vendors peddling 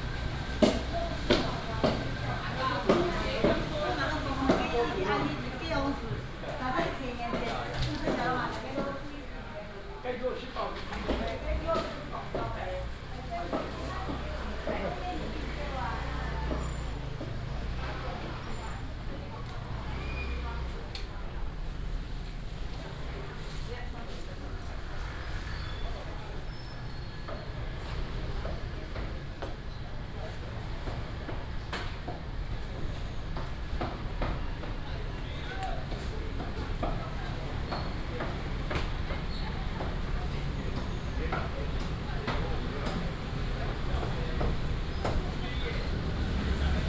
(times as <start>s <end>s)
11.0s 23.3s, 24.2s 46.8s